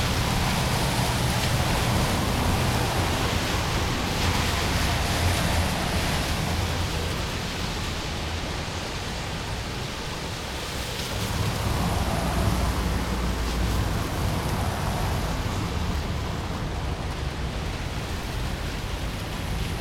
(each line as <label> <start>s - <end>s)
Rainy street 0.0s - 19.8s